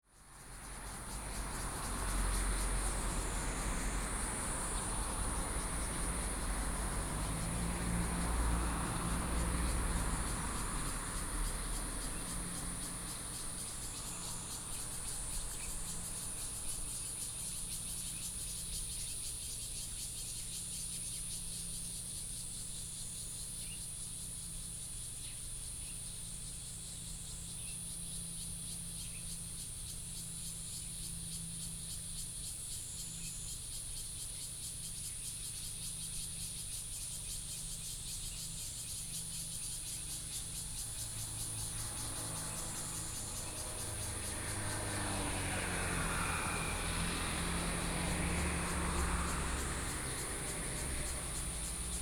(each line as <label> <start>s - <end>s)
Cicadas sound 0.0s - 52.0s
Traffic Sound 0.2s - 19.1s
Traffic Sound 39.6s - 52.0s